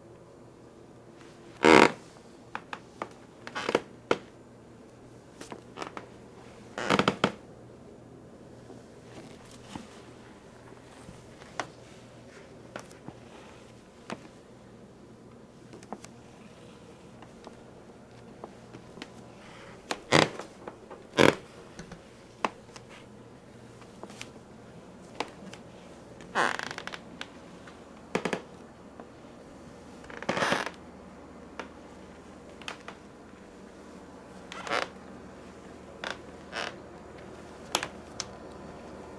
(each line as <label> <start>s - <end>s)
wood floor creaks 1.6s - 4.3s
wood floor creaks 5.4s - 6.1s
wood floor creaks 6.8s - 7.4s
wood floor creaks 18.7s - 22.8s
wood floor creaks 26.2s - 27.3s
wood floor creaks 28.1s - 28.5s
wood floor creaks 30.0s - 30.8s
wood floor creaks 32.6s - 33.0s
wood floor creaks 34.5s - 35.0s
wood floor creaks 36.0s - 36.8s